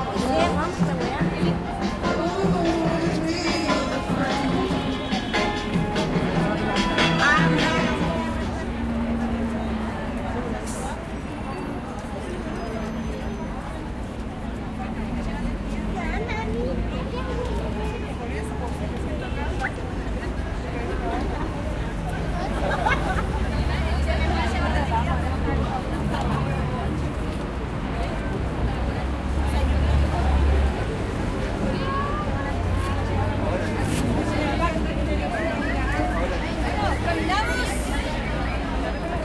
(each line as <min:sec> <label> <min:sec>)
0:00.0 tránsito 0:08.8